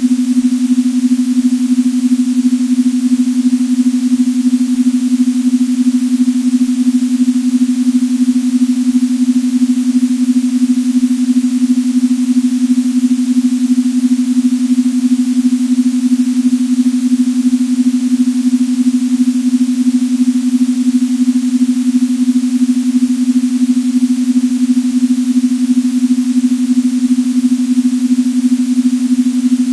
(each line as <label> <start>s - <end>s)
Binaural beats 0.0s - 29.7s